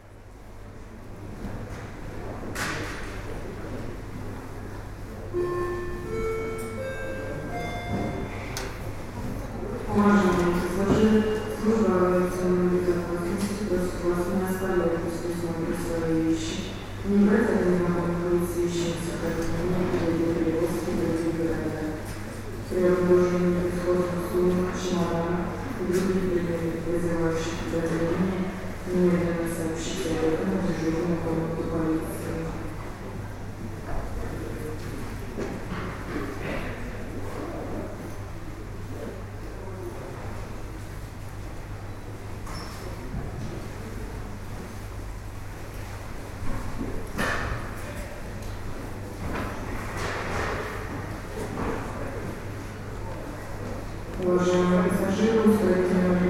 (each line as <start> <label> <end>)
4.0 Announcement in aeroport 32.9